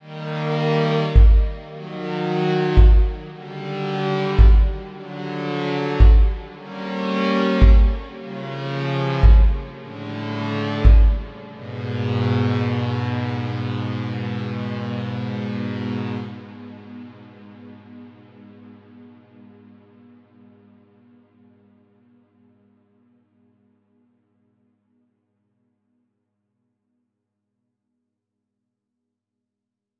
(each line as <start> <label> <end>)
0.0 synth 20.0